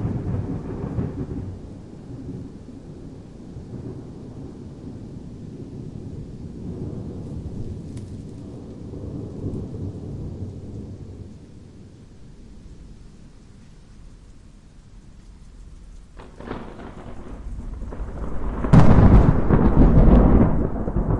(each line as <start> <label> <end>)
0.0 Thunderclap 11.4
0.0 rain 21.1
16.1 Thunderclap 21.1